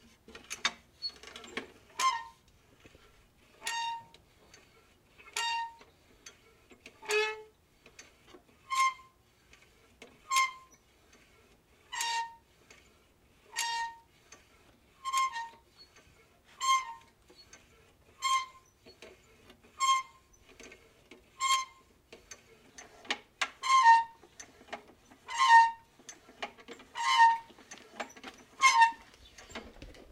0.4s Squeaking a metal handle on a lawnmower 2.4s
3.6s Squeaking a metal handle on a lawnmower 4.1s
5.3s Squeaking a metal handle on a lawnmower 5.8s
8.7s Squeaking a metal handle on a lawnmower 9.1s
10.3s Squeaking a metal handle on a lawnmower 10.8s
11.9s Squeaking a metal handle on a lawnmower 12.4s
13.5s Squeaking a metal handle on a lawnmower 14.1s
15.0s Squeaking a metal handle on a lawnmower 16.0s
16.6s Squeaking a metal handle on a lawnmower 23.0s
23.6s Squeaking a metal handle on a lawnmower 30.0s

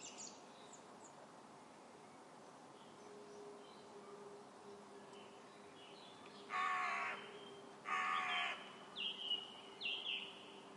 6.5s carrion crow 8.7s

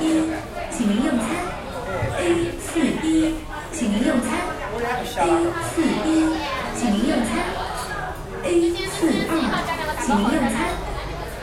0.0s electronic announcement system 1.5s
0.0s diners talking 11.4s
2.2s electronic announcement system 4.6s
5.2s electronic announcement system 7.6s
8.4s electronic announcement system 10.8s

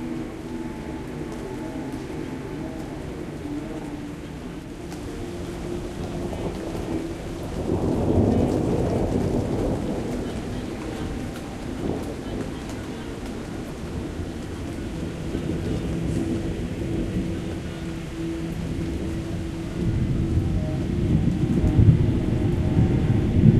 0.0s rain 23.5s
0.0s synths 23.5s
0.0s voices 23.5s
4.9s thunder 23.5s

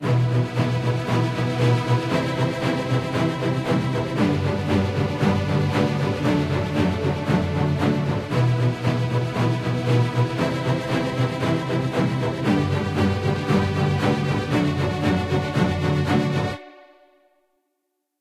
0.0s basses 16.6s
0.0s cellos 17.0s
0.0s violins 17.0s

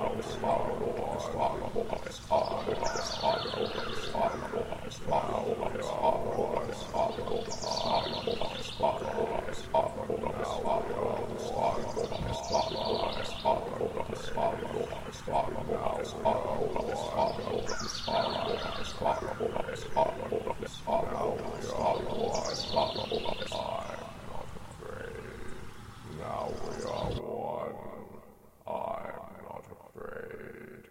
0.0s bird sounds 30.5s
0.0s looped and modified vocals 30.9s

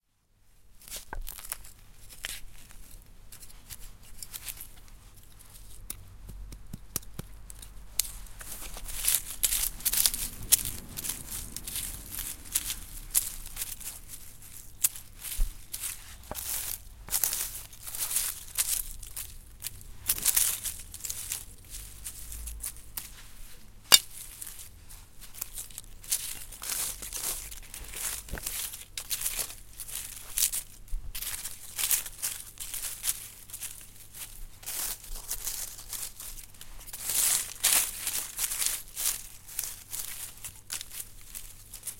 0.9s rake 41.9s

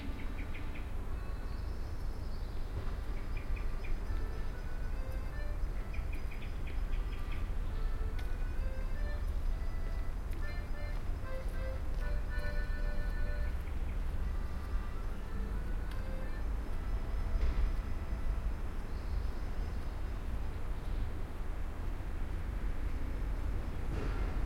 4.0s kid playing accordion somewhere far in an appartment 19.6s

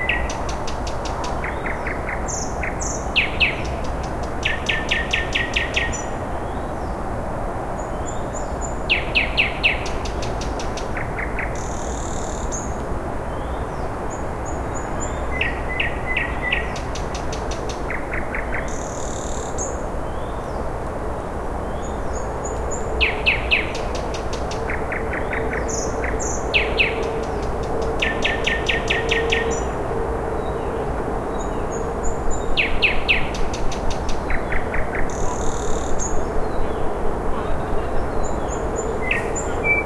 0.0s nightingale 7.0s
7.8s nightingale 20.7s
21.6s nightingale 39.8s

